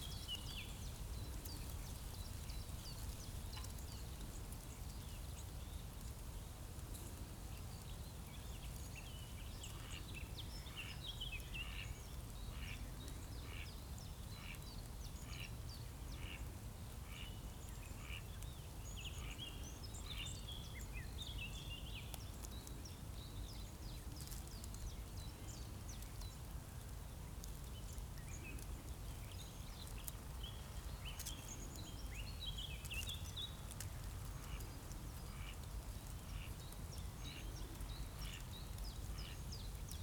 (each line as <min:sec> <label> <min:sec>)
0:00.0 gentle wind in trees and dry weed 0:40.0